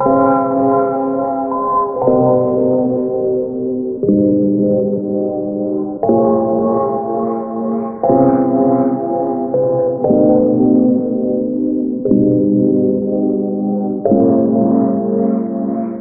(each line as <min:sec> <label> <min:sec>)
0:00.0 piano 0:16.0